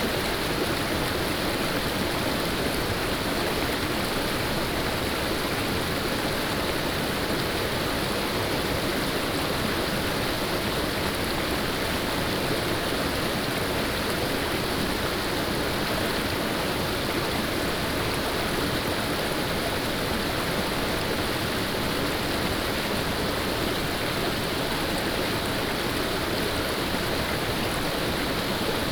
0.0s Stream sound 28.9s

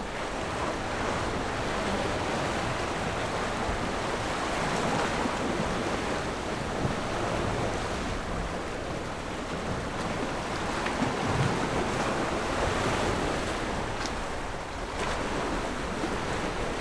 0.0s waves 16.8s

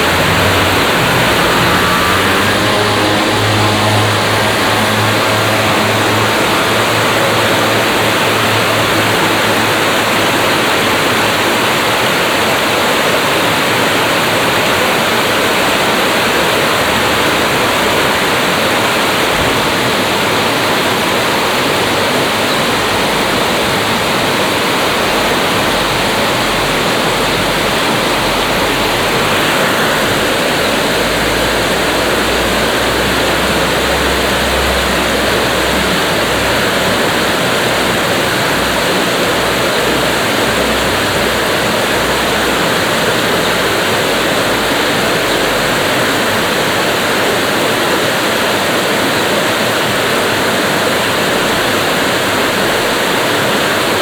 0.0s traffic on the main road 54.0s
0.0s water crossing the dam 54.0s

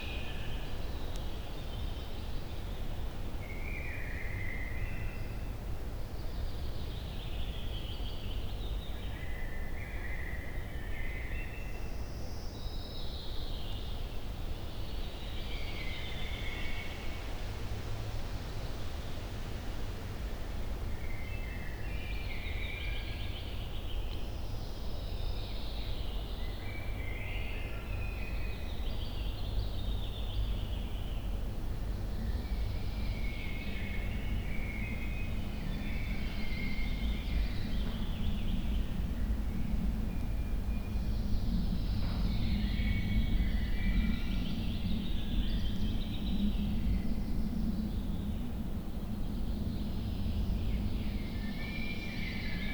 0.0s wind 52.7s

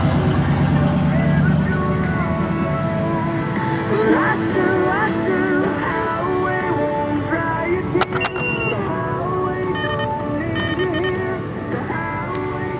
0.0s Music blaring at pump and in the store 12.7s
0.0s road noise 12.7s

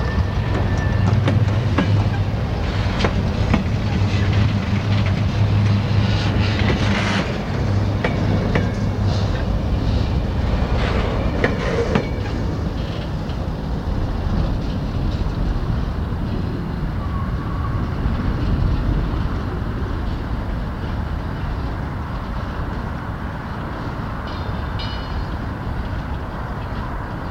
0.0s slowly passing freight train with empty bulk containers 27.3s

